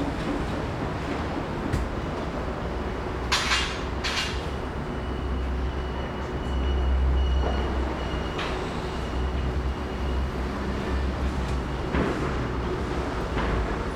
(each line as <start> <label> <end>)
0.0 Sound construction site 13.9